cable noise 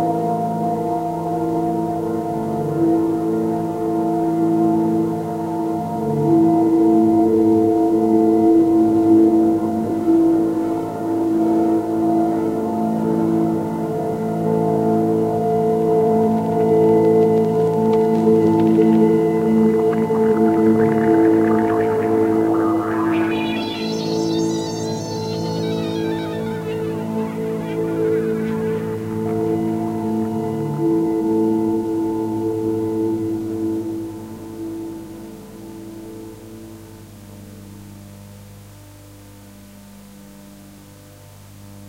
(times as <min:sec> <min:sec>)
0:15.8 0:31.4